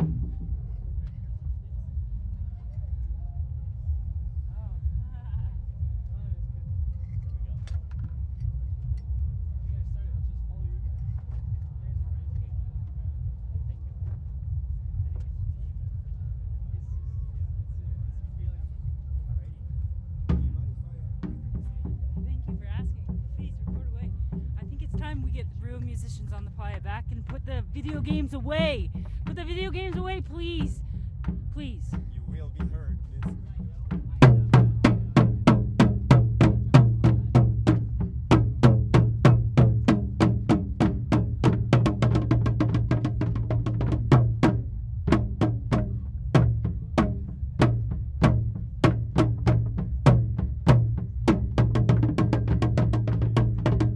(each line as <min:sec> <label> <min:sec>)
0:23.2 Trio of drummers playing 0:53.9